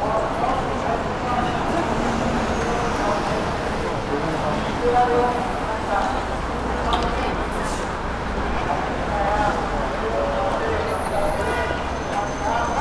pedestrian crossing 0:00.0 - 0:12.8

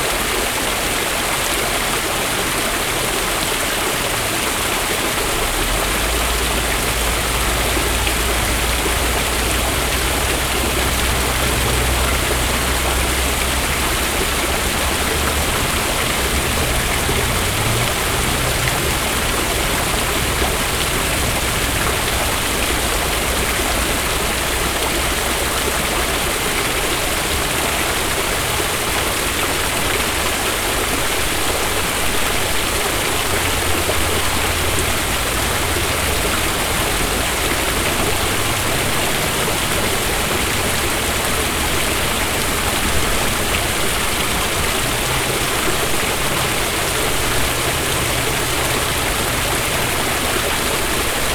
waterfall 0:00.0 - 0:51.3

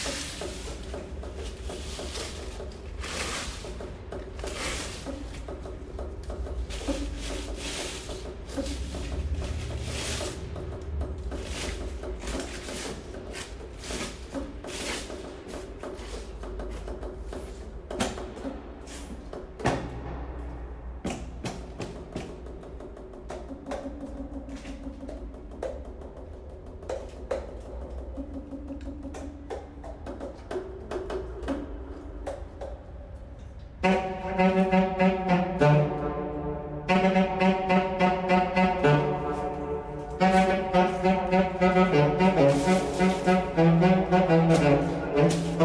Tenorsax 0:33.4 - 0:45.6
Altsax 0:33.8 - 0:45.6

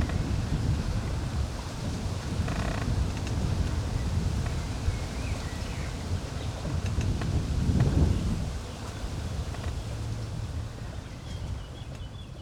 creaking tree 0:00.0 - 0:00.5
creaking tree 0:01.9 - 0:04.7
creaking tree 0:06.5 - 0:08.2
creaking tree 0:09.4 - 0:10.3

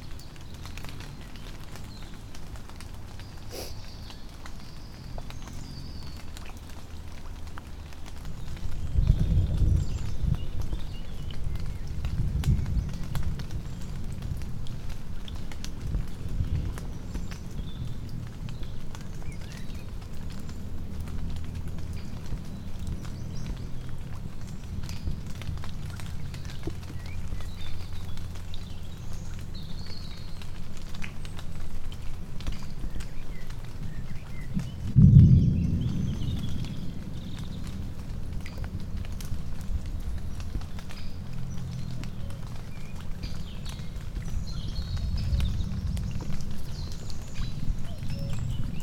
Storm in forest 0:00.0 - 0:48.8
thousand of baby frogs around us 0:00.0 - 0:48.8

